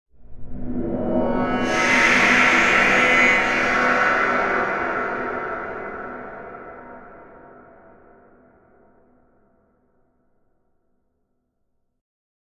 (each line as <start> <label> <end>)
0.2 enveloped sine and saw waves 8.7